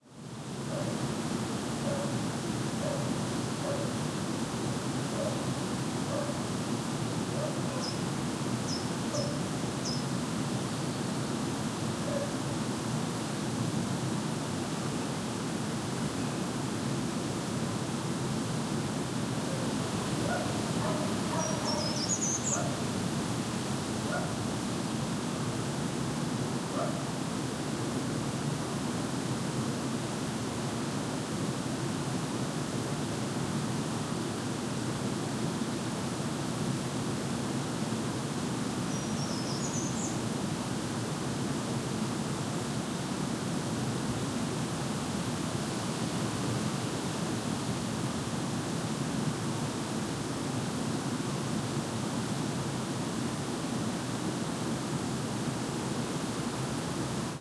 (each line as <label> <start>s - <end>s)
Light wind 0.1s - 57.4s
occasional birds not very close 20.2s - 22.8s